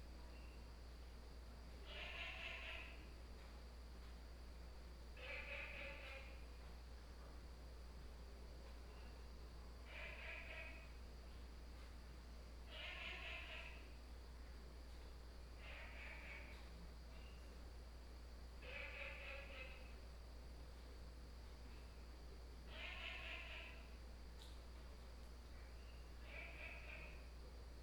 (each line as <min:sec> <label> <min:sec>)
0:01.8 Frogs sound 0:03.2
0:05.1 Frogs sound 0:06.6
0:08.7 Frogs sound 0:11.4
0:12.1 Frogs sound 0:14.2
0:15.4 Frogs sound 0:20.6
0:21.6 Frogs sound 0:27.5